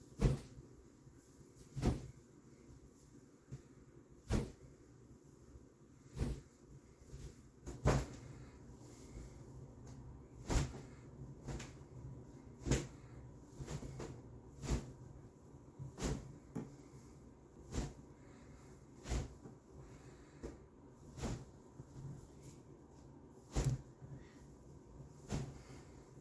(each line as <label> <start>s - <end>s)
cloth swoosh 0.0s - 4.9s
cloth swoosh 6.0s - 26.2s